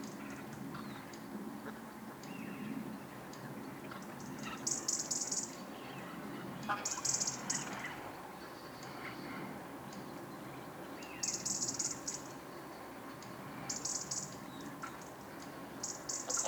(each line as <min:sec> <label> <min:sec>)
0:03.8 ducks 0:08.1
0:03.9 Gooses 0:09.2
0:15.8 Gooses 0:16.4
0:16.0 ducks 0:16.4